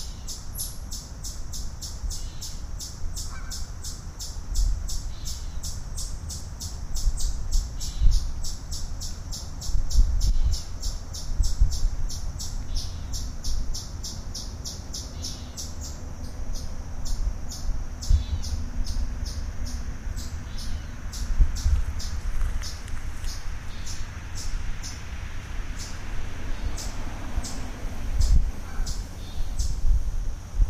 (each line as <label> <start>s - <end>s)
Birds 0.0s - 30.6s
Geese 3.2s - 3.6s